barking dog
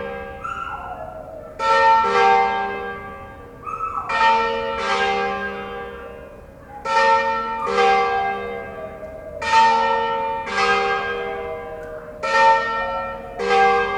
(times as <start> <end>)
0.4 1.2, 3.6 4.2